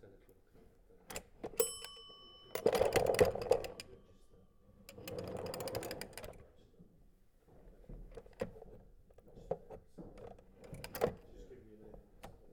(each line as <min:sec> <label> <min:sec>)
0:01.6 bells 0:05.4